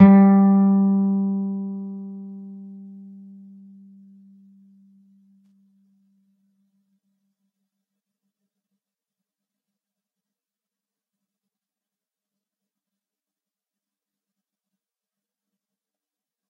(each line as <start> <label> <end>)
0.0 plucked G (3rd) string 4.7